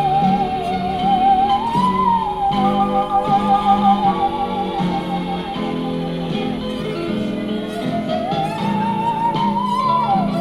musician playing musical saw 0.0 - 10.4

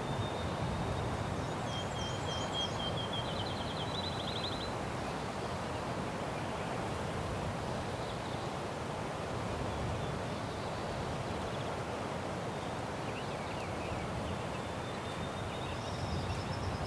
light wind in the bush 0.0 - 16.8
birds 12.4 - 16.8

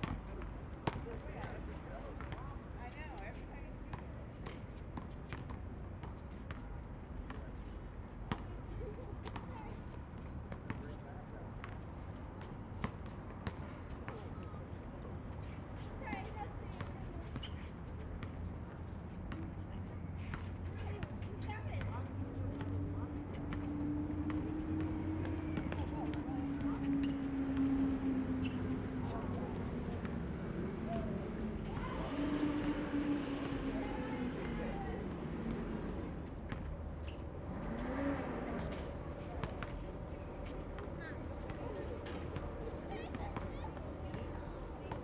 children playing basketball 8.3 - 45.0

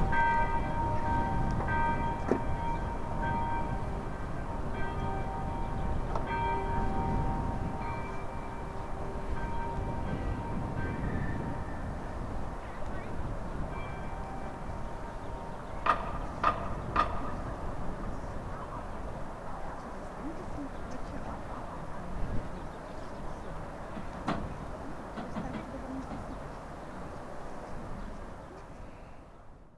church bells sounding 0.0 - 19.2

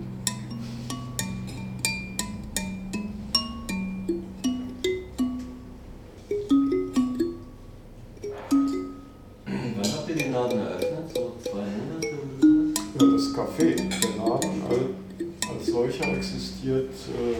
kalimba with pumpkin 0.0 - 17.0

